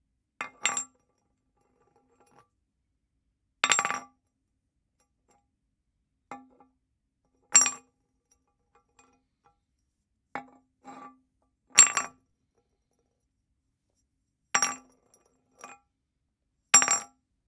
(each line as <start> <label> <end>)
0.5 small glass bottle being dropped and kicked around on concrete 0.9
16.8 small glass bottle being dropped and kicked around on concrete 17.2